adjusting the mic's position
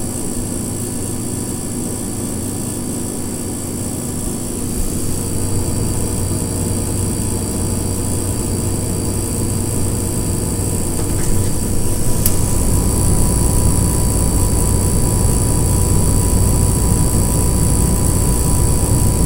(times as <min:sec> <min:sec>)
0:11.0 0:12.5